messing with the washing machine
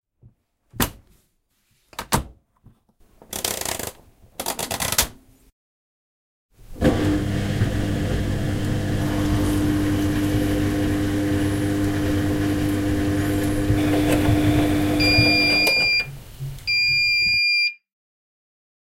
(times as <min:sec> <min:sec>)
0:06.7 0:16.1